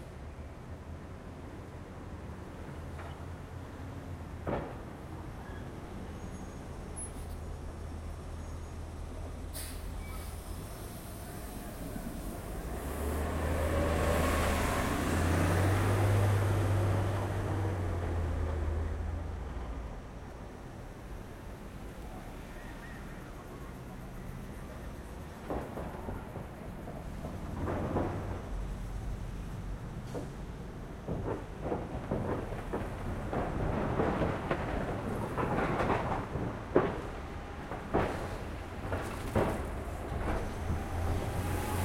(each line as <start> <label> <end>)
0.0 Buses 41.8
0.0 Light traffic 41.8